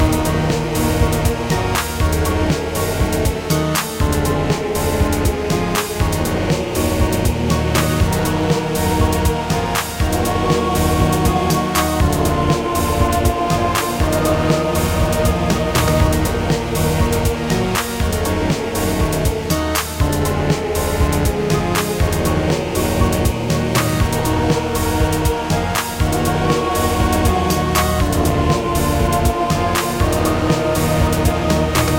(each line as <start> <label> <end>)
0.0 choir 31.9
0.0 piano 31.9
0.0 synth 31.9